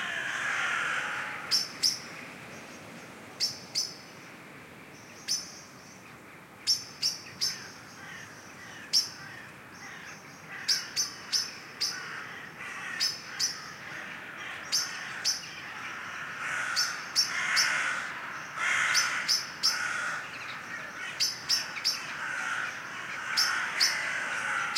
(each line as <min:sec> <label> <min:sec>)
0:00.0 Crows 0:02.0
0:07.4 Crows 0:24.7